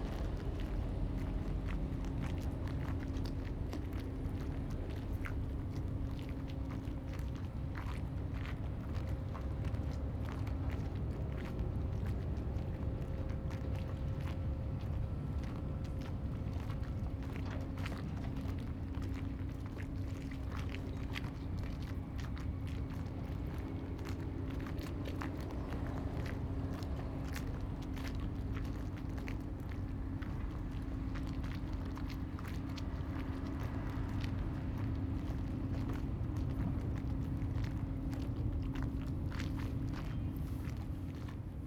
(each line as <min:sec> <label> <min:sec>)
0:00.0 Tide 0:41.6